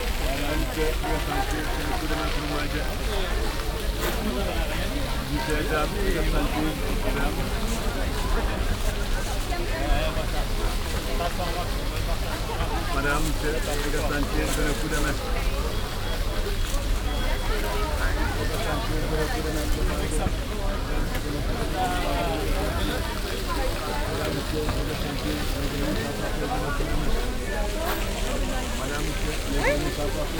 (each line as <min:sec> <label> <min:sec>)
0:00.0 fountain 0:30.3
0:00.0 market sound 0:30.3